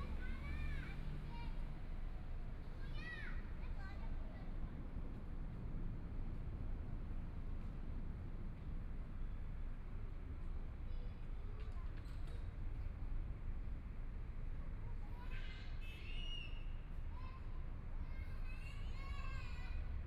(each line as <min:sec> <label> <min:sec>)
0:00.0 Traffic Sound 0:20.0
0:17.1 Mother and child 0:20.0